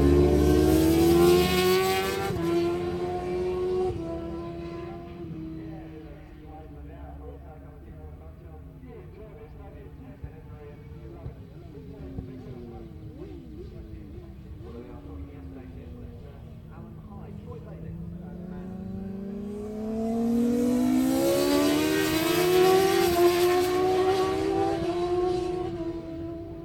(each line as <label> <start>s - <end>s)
Superbikes Qualifying 11.0s - 26.6s